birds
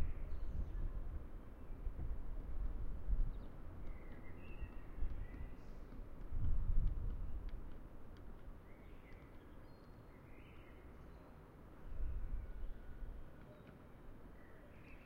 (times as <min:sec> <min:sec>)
0:03.2 0:06.3, 0:07.0 0:15.0